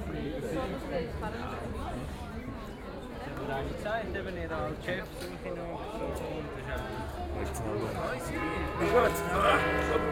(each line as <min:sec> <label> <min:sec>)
0:08.3 Different bells 0:10.1